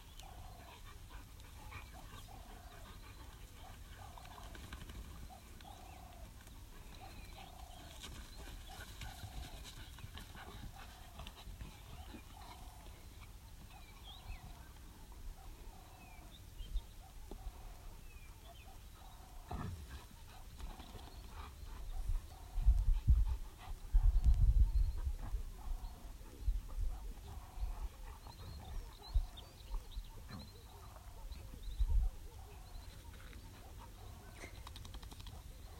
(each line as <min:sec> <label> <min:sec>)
0:00.0 birds 0:35.7
0:00.0 wind 0:35.7
0:00.4 panting 0:04.6
0:15.1 Dogs barking 0:16.0
0:18.4 Dogs barking 0:20.5
0:19.8 panting 0:24.3
0:25.2 Dogs barking 0:34.6
0:35.2 Dogs barking 0:35.7